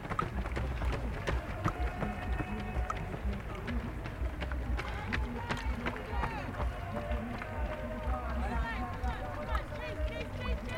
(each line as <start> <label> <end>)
0.0 applaudissements du public 10.7